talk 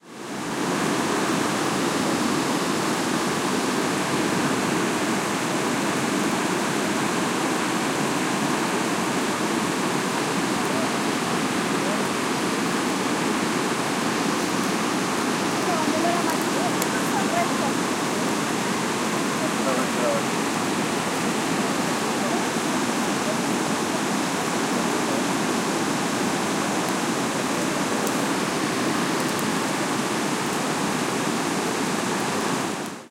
15.5s 18.3s, 19.1s 20.4s, 21.6s 24.0s

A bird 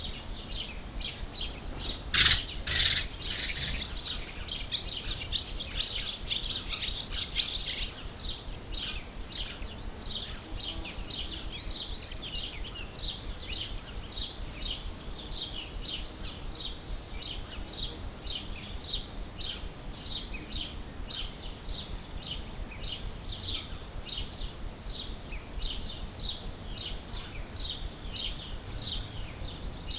1.0s 8.0s

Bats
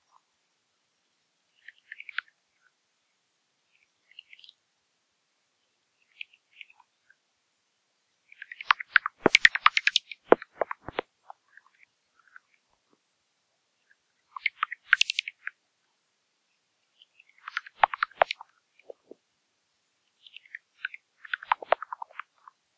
8.3s 12.5s, 14.3s 15.6s, 17.2s 19.1s

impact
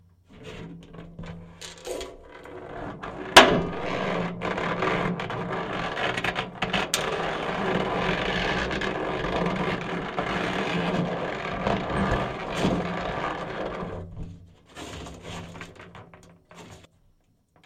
3.4s 5.4s

